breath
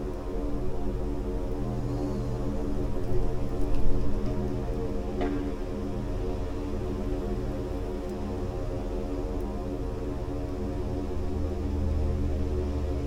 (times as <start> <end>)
1.9 2.4